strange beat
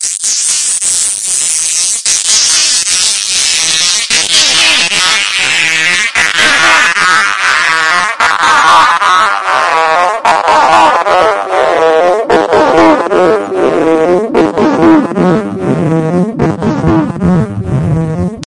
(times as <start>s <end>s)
4.2s 18.4s